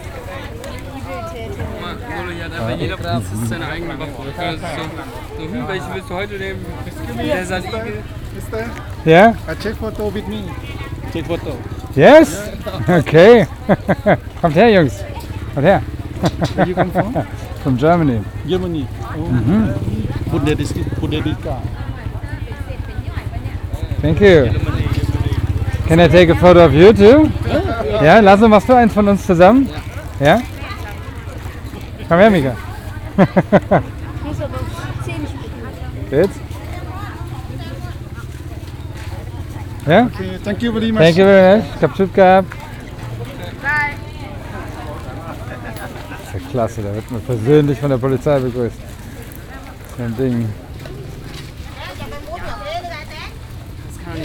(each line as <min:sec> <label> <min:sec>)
0:00.0 vendors from the mountain minorities who speak their own languages 0:54.2
0:00.0 policemen asked us 0:22.9
0:23.6 policemen asked us 0:31.0
0:31.8 policemen asked us 0:52.7